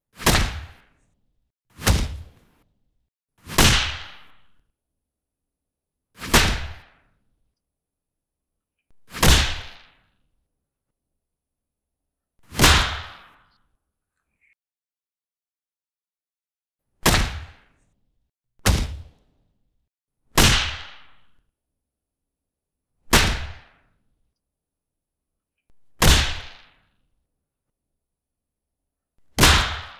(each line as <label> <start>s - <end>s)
punch 0.2s - 0.8s
kick 0.2s - 0.8s
kick 1.8s - 2.4s
punch 1.8s - 2.4s
punch 3.5s - 4.5s
kick 3.5s - 4.3s
punch 6.2s - 7.0s
kick 6.2s - 6.8s
kick 9.1s - 9.8s
punch 9.1s - 9.9s
punch 12.5s - 13.4s
kick 17.0s - 17.6s
punch 17.0s - 17.6s
kick 18.6s - 19.2s
punch 18.6s - 19.2s
punch 20.4s - 21.3s
kick 20.4s - 21.0s
punch 23.1s - 23.7s
punch 26.0s - 26.7s
kick 29.4s - 29.9s
punch 29.4s - 29.9s
firecracker 29.4s - 29.9s